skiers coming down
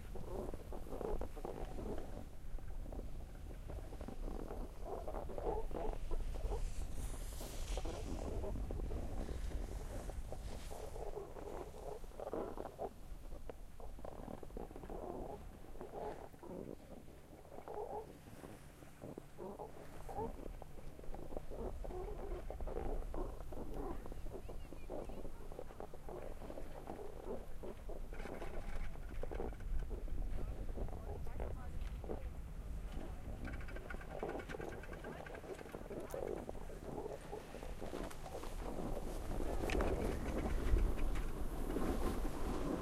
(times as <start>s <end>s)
6.2s 12.1s, 30.4s 42.8s